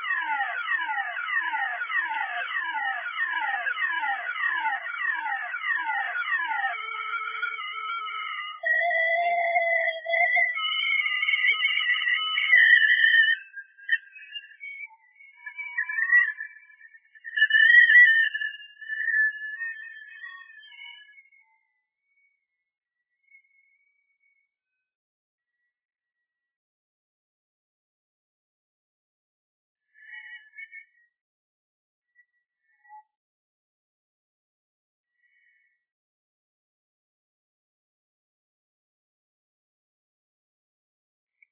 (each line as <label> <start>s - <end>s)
car alarm slowly dying out 0.0s - 21.3s